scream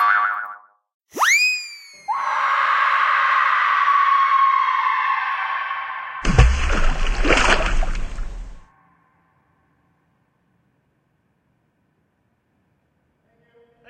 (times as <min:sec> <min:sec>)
0:01.2 0:08.6